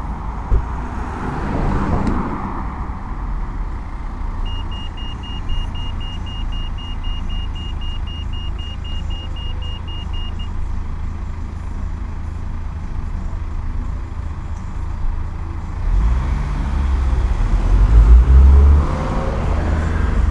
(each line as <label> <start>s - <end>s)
normal traffic 0.0s - 20.3s
crossing tone 2.2s - 11.8s